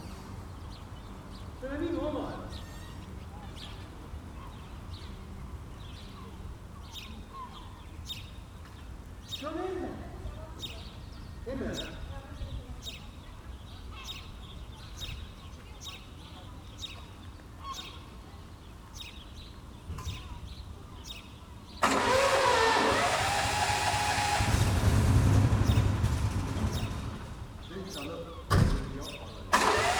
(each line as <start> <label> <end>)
21.8 motor pump 27.5
29.5 motor pump 29.9